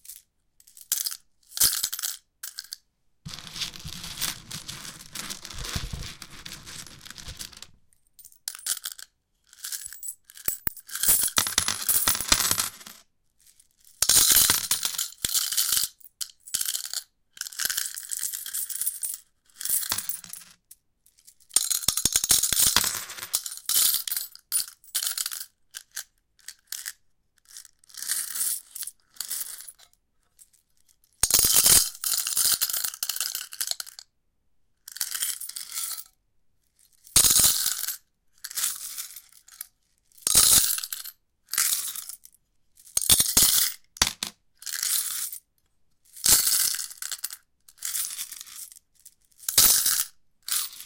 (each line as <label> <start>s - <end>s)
drop some coins on a metallic surface 0.8s - 9.0s
drop some coins on a metallic surface 9.8s - 13.0s
drop some coins on a metallic surface 14.0s - 15.4s
drop some coins on a metallic surface 19.7s - 20.5s
drop some coins on a metallic surface 21.6s - 24.3s
drop some coins on a metallic surface 43.0s - 44.3s
drop some coins on a metallic surface 49.5s - 50.6s